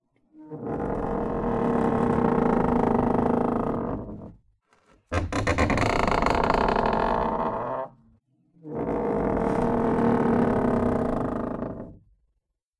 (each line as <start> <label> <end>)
0.4 Large creaky door 4.0
5.1 Large creaky door 7.9